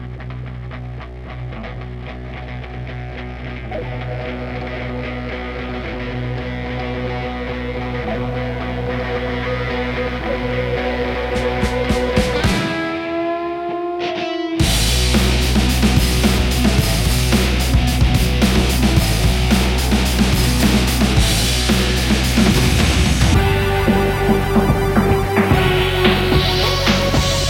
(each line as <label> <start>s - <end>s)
guitar 0.0s - 27.4s
drums 11.2s - 13.1s
drums 14.2s - 27.4s